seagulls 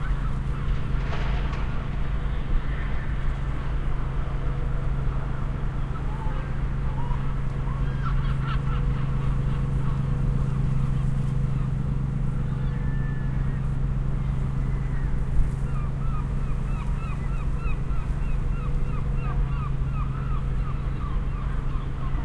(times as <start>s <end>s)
6.0s 10.0s, 14.6s 22.2s